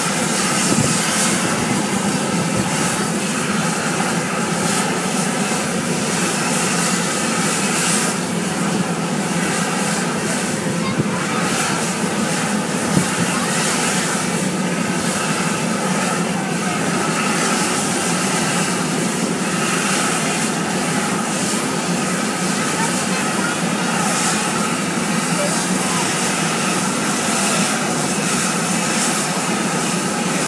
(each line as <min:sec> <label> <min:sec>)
0:00.0 hissing fumarole 0:30.4